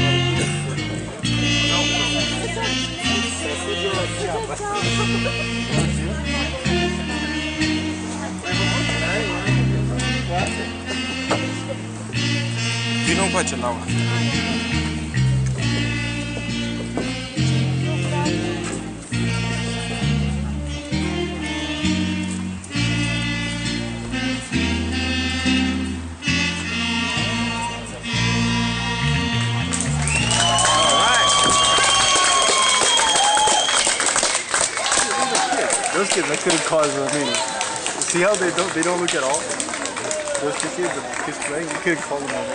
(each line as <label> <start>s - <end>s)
Three Saxophones 0.0s - 34.1s